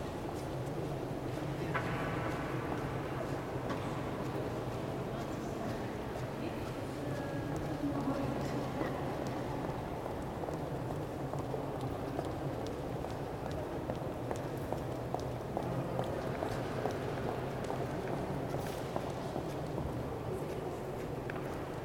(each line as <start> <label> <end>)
0.2 peoples' footsteps 21.8